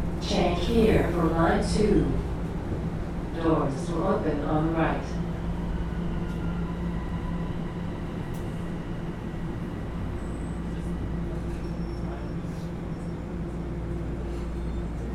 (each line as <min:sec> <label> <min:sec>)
0:00.0 subway train 0:15.1